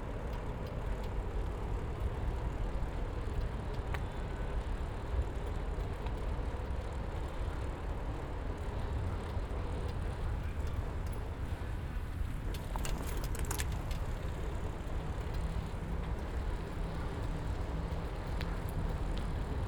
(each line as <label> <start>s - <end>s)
Biking on the bank of Po River 0.0s - 19.6s